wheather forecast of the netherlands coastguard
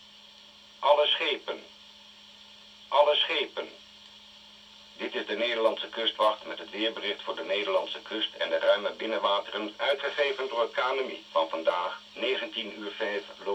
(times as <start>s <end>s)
5.0s 13.5s